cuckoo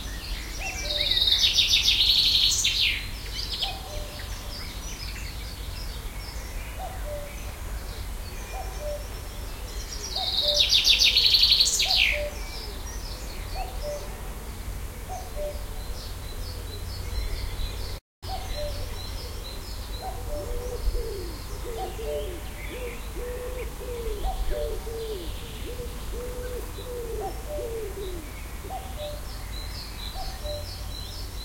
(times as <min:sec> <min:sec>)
0:03.6 0:04.3, 0:06.8 0:07.4, 0:08.4 0:09.2, 0:10.1 0:12.7, 0:15.1 0:15.7, 0:18.3 0:29.2, 0:30.2 0:30.8